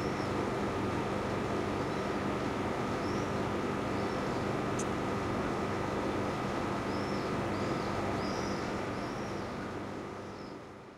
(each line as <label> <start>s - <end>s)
Noise of the rooftopfan 0.0s - 10.9s